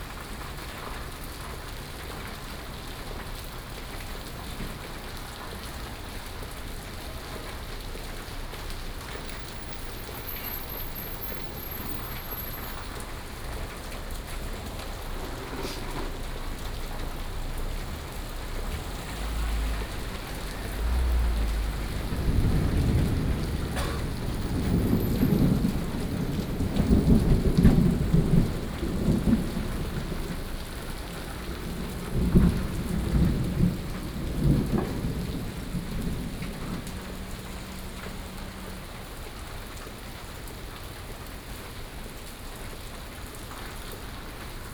Traffic Sound 0.1 - 44.7
Thunderstorm 7.1 - 39.8

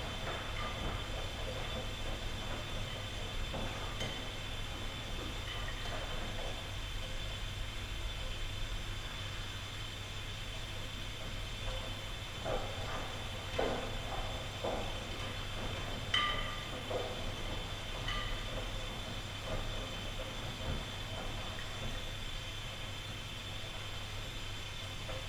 washing machine 0.0 - 25.2

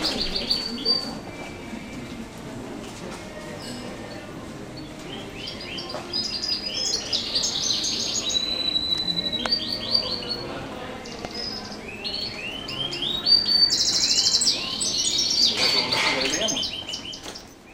real birds 0.0 - 2.4
real birds 3.4 - 17.7
artificial birds 3.6 - 17.7

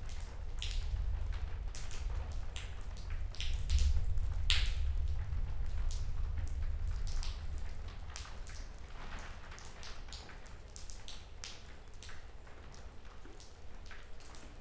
rain dripping from the ceiling 0.0 - 14.6

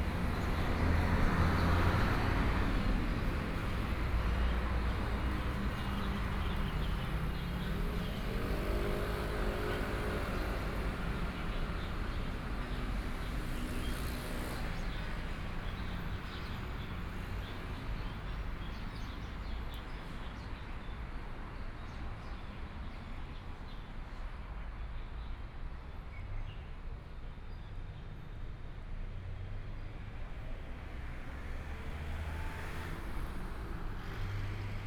Traffic Sound 0.0 - 22.8
Traffic Sound 28.1 - 34.8

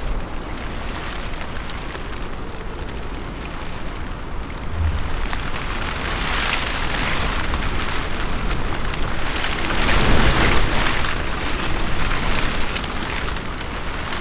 wind storm 4.2 - 7.8

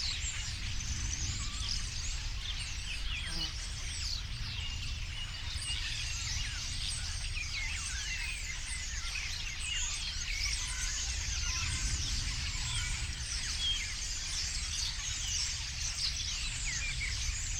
Constant rumble of aircraft 0.0 - 17.5
Starlings gathering in the trees around 0.0 - 17.5

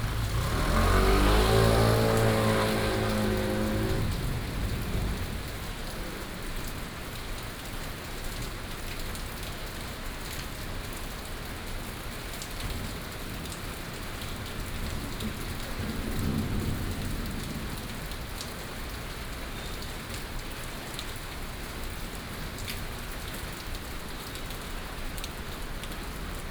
Thunderstorms 0.0 - 7.0
Thunderstorms 14.8 - 18.0

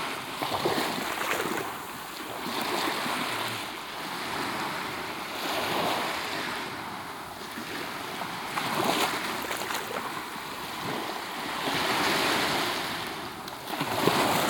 Waves, really close 0.0 - 14.4

